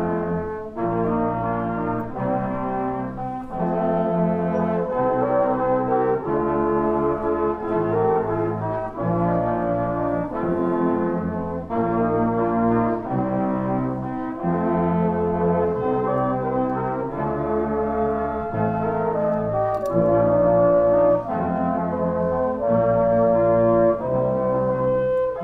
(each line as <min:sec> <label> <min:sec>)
0:00.0 Brass band 0:25.4